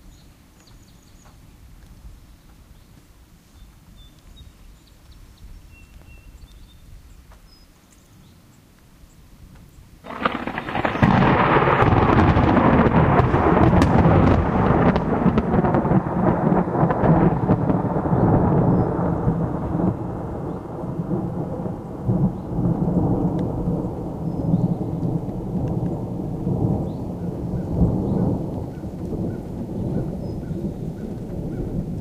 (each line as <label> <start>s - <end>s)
claps of thunder 10.0s - 32.0s